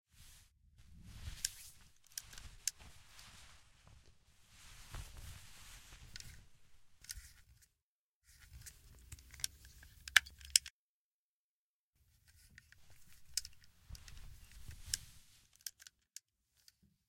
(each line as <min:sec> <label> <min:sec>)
0:00.9 Moving a gun around in a hand 0:04.2
0:04.8 Moving a gun around in a hand 0:07.7
0:12.2 Moving a gun around in a hand 0:16.8